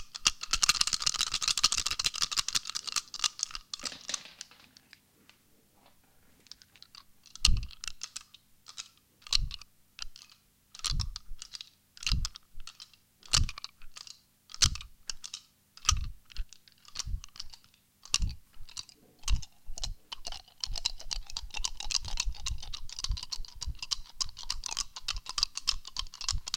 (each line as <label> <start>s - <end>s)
shaking 5 hazelnuts in my hands 0.0s - 10.2s
shaking 5 hazelnuts in my hands 10.8s - 14.9s
shaking 5 hazelnuts in my hands 15.8s - 26.5s